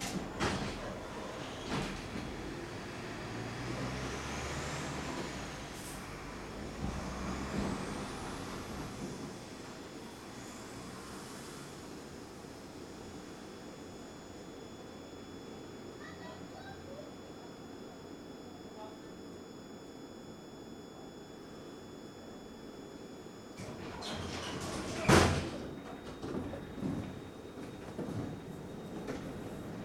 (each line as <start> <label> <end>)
0.0 tram 13.6
1.4 humming traffic arteries 17.0
23.6 tram 29.8